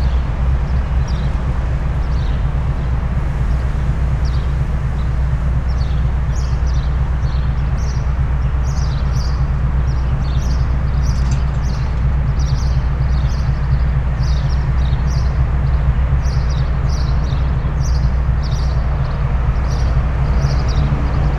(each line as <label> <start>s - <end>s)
powerplant drone 0.0s - 21.3s